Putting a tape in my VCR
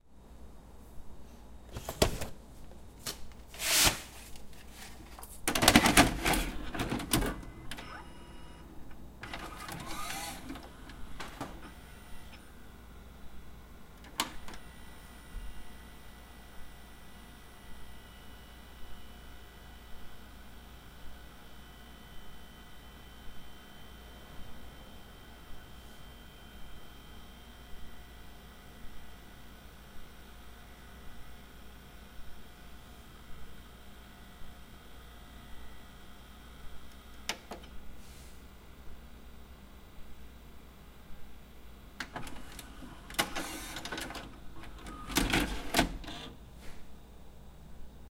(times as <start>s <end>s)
4.7s 8.2s, 9.2s 12.5s, 14.0s 14.7s, 42.0s 46.4s